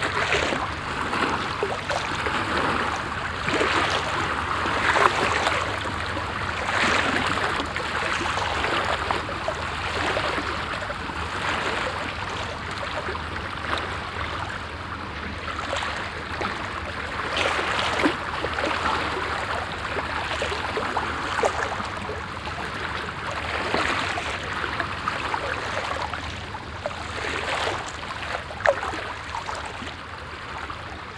diver diving nearby in the shallow water 0:00.0 - 0:31.1
motor boat 0:00.0 - 0:31.1
water lapping at the stony coast 0:00.0 - 0:31.1

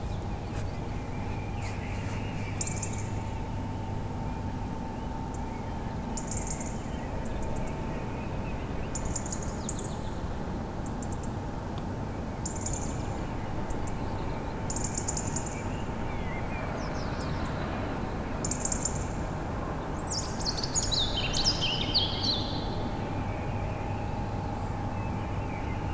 early bird activity 0:00.0 - 0:19.2

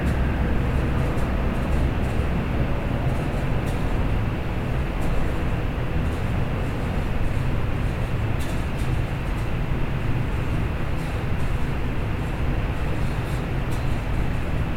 Windy alley 0:00.0 - 0:14.7

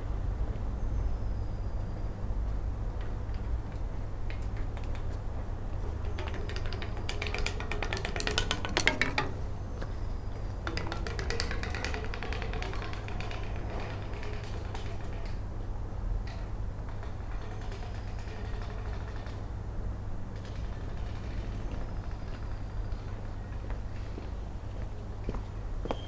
Playing on the railings with a stick 0:03.0 - 0:15.6
Playing on the railings with a stick 0:16.2 - 0:23.6

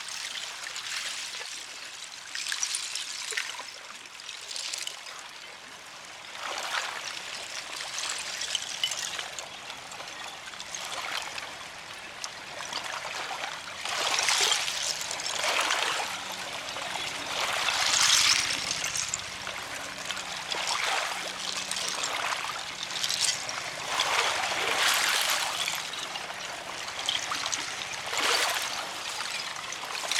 Ice pieces clinking on gentle waves 0:00.0 - 0:30.1

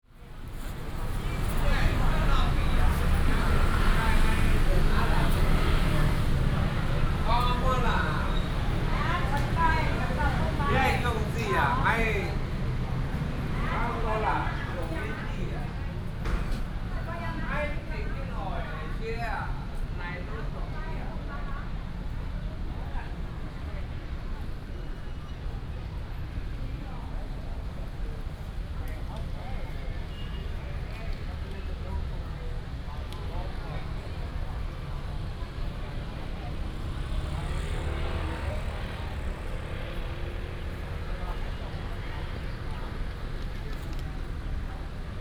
Many old people, Use a variety of different languages in conversation 0:00.1 - 0:45.2
Walking in the park 0:21.6 - 0:45.2

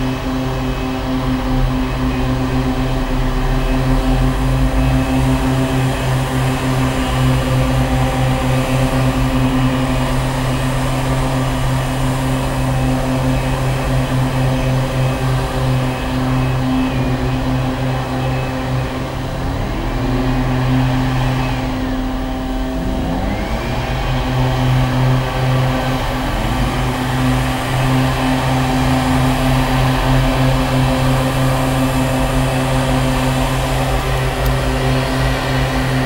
air blower 0:00.0 - 0:36.0

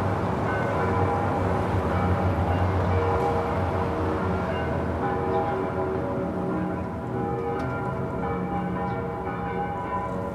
church bells 0:00.0 - 0:10.3

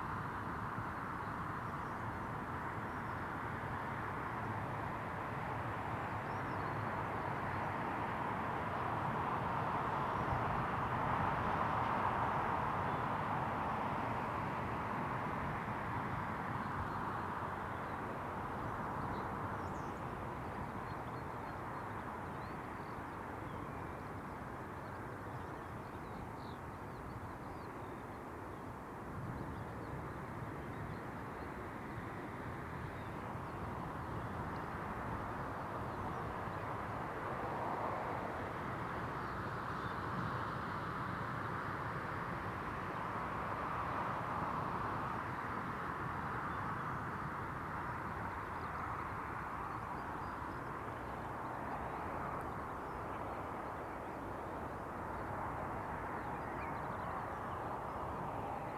traffic noise 0:00.0 - 0:58.7
wind 0:00.0 - 0:58.7

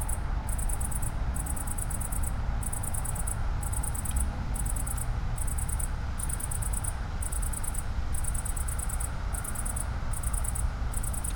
cicada on acacia tree 0:00.0 - 0:11.3

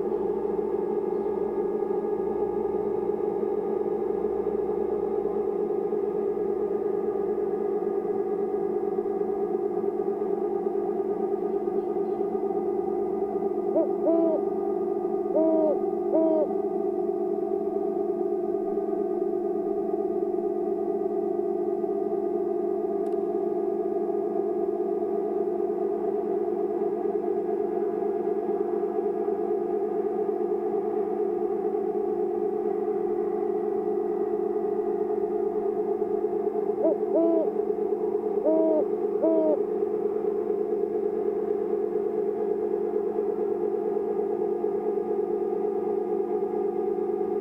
hooting owl 0:00.0 - 0:18.0
Background droning tones 0:00.0 - 0:47.4
hooting owl 0:35.7 - 0:41.0

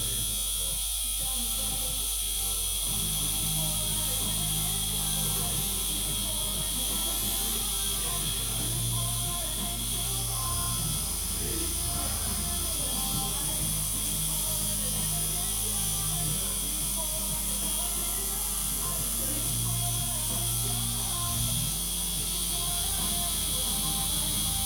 discussion 0:00.0 - 0:24.6
music 0:00.0 - 0:24.6
tattooing 0:00.0 - 0:24.6

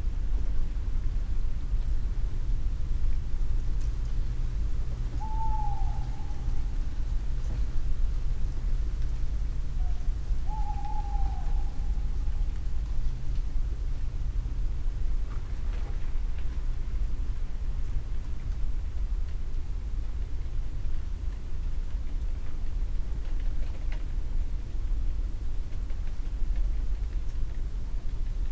owls call 0:05.2 - 0:06.6
owls call 0:09.8 - 0:12.0

